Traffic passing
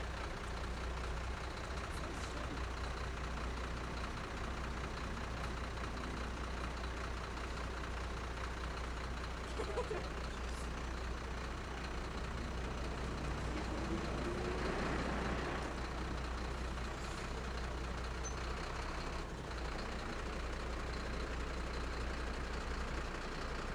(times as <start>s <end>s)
12.3s 17.4s